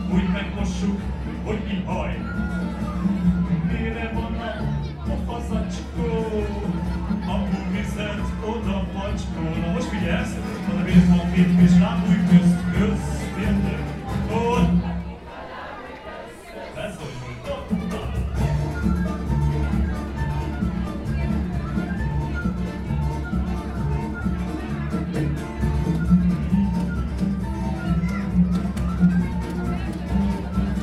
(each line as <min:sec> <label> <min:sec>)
0:00.0 Folk performance 0:30.8